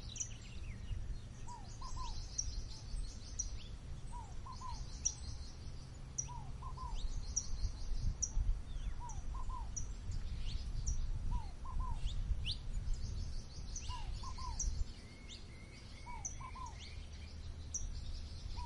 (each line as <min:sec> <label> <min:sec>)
0:00.0 tropical birds waking with the sunrise 0:18.6